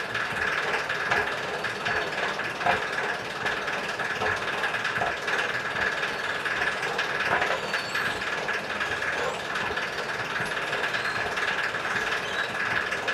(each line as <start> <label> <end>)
0.0 squeaking and gabbling moving staircase 13.1